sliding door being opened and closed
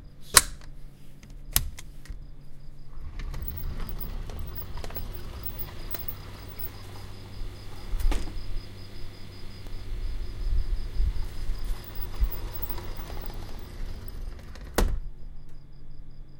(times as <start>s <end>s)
2.9s 9.5s, 11.2s 15.0s